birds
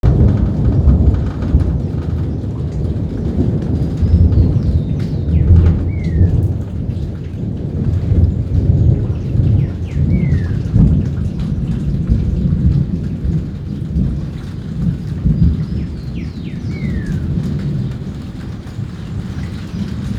3.9s 6.5s, 8.2s 12.4s, 13.7s 20.1s

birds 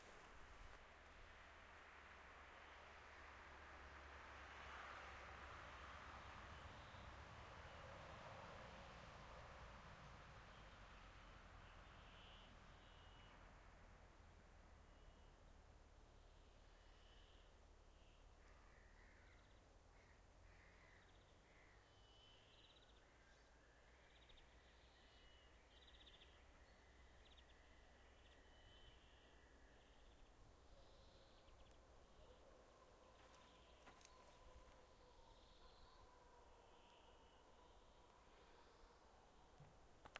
16.1s 40.1s

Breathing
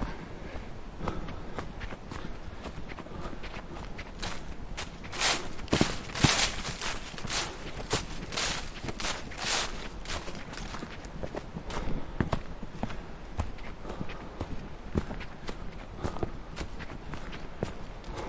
0.0s 4.4s, 11.6s 12.9s, 13.6s 18.2s

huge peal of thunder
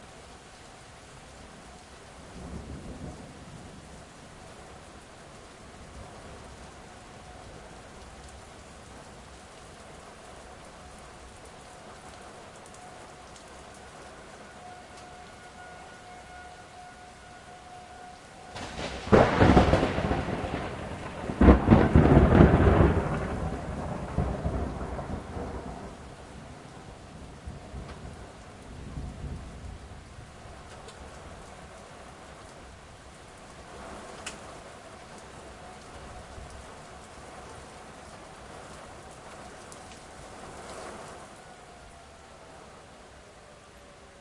18.5s 26.0s

